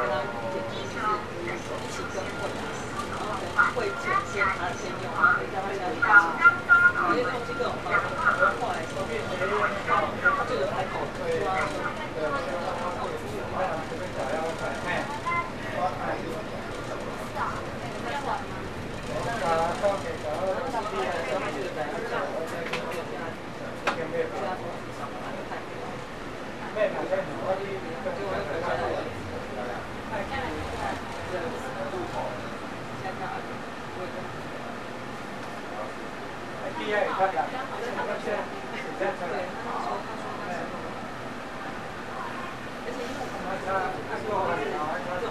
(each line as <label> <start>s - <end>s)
Taiwanese Broadcasting system 0.0s - 22.3s